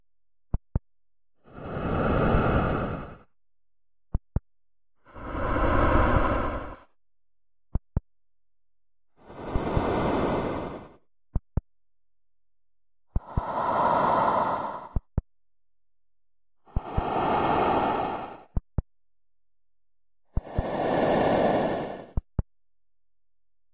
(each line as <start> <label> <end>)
1.4 underwater breathing 3.3
5.0 underwater breathing 6.9
9.2 underwater breathing 11.0
13.2 underwater breathing 15.1
16.7 underwater breathing 18.6
20.4 underwater breathing 22.2